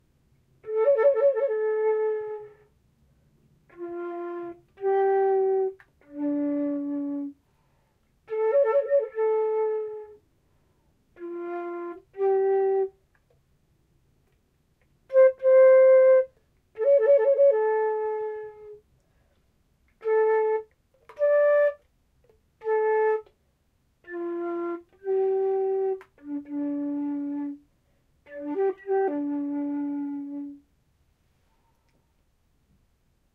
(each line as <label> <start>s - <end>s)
Flute 0.6s - 2.7s
Flute 3.7s - 10.2s
Flute 11.2s - 13.2s
Flute 15.1s - 18.8s
Flute 19.9s - 21.9s
Flute 22.6s - 23.4s
Flute 24.0s - 30.7s